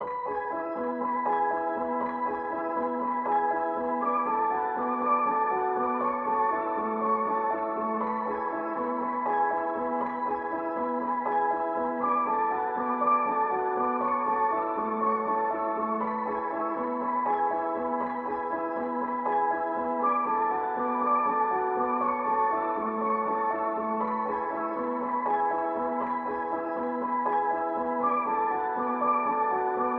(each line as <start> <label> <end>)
0.0 piano 29.9